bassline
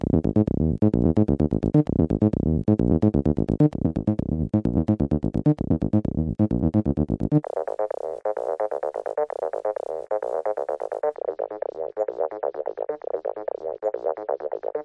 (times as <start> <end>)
0.0 11.1